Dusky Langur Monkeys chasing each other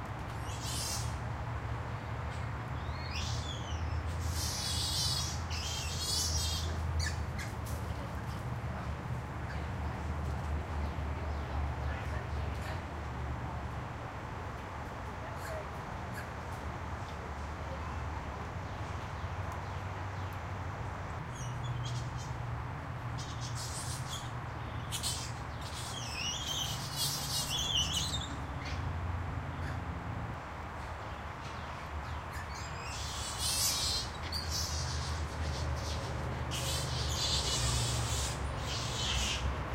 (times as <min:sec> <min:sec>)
0:03.2 0:07.6, 0:23.2 0:28.9, 0:32.3 0:39.7